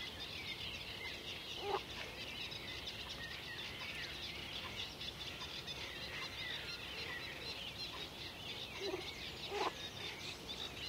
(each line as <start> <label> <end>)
0.0 Birds singing 10.8
4.5 Croaking frogs 10.8